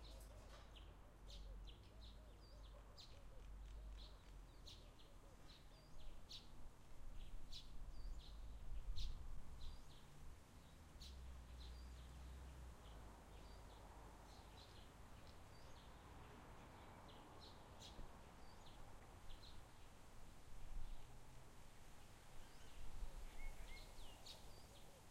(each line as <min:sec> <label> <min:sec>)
0:00.0 birds 0:20.0
0:00.0 gentle breeze 0:25.1
0:22.0 birds 0:25.1